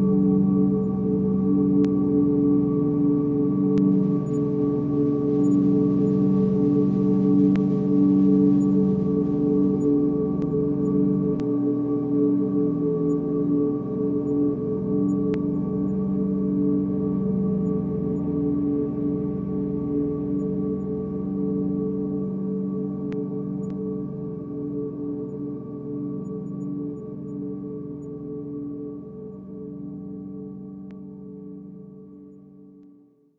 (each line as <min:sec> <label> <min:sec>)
0:00.0 drone 0:31.8